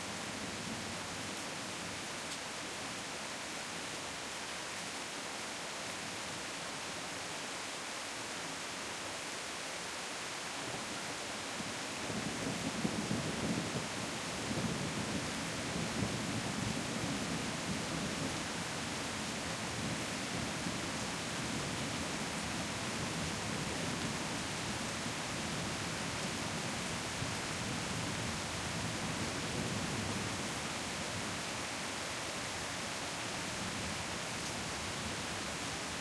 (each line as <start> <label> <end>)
0.0 rain 36.0